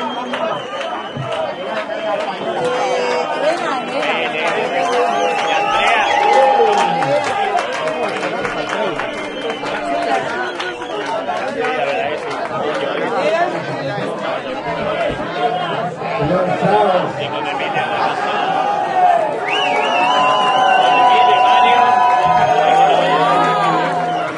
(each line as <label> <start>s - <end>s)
hand clapping 0.0s - 2.8s
hand clapping 3.5s - 13.3s
music 4.0s - 13.0s
music 14.0s - 24.3s